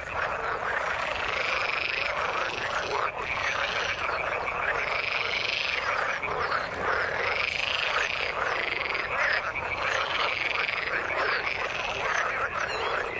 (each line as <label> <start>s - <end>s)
frogs singing their songs 0.0s - 13.1s
waterbirds 0.0s - 13.1s